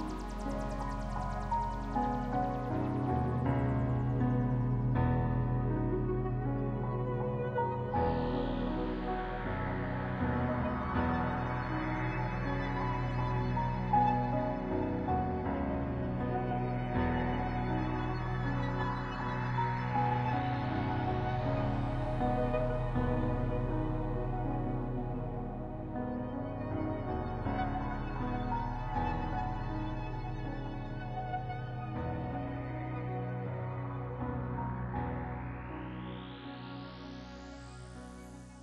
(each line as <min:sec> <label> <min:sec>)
0:00.0 piano 0:38.6
0:00.0 synth 0:38.6